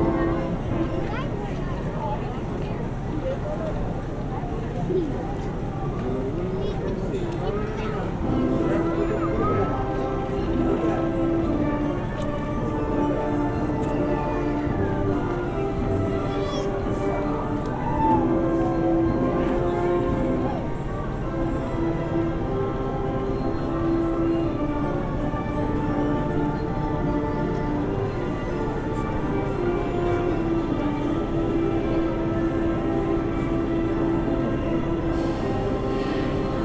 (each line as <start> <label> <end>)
0.0 music from a Merry Go Round 36.6
17.8 Distant Rollercoaster Screams 18.9